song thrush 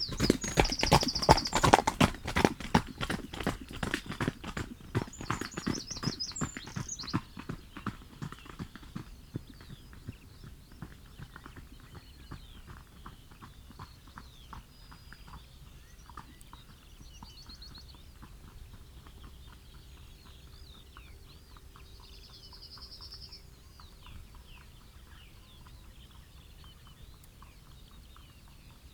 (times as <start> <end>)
0.0 1.9, 13.2 28.9